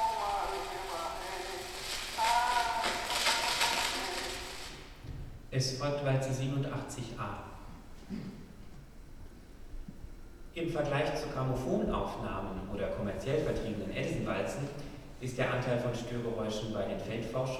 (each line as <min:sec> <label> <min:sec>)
0:00.0 phonograph 0:05.0